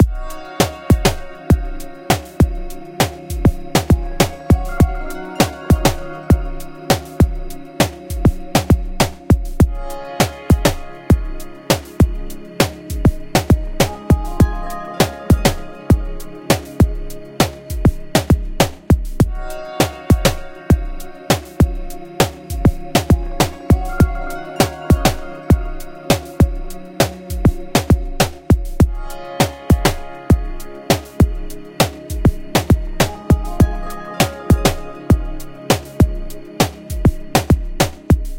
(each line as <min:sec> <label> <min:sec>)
0:00.0 choir 0:38.3